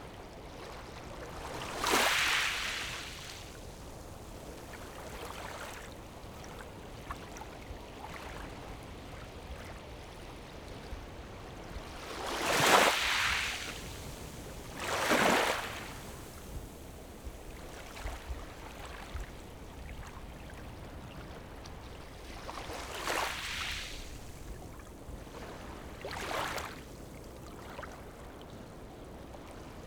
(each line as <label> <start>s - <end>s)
Waves and tides 0.0s - 29.8s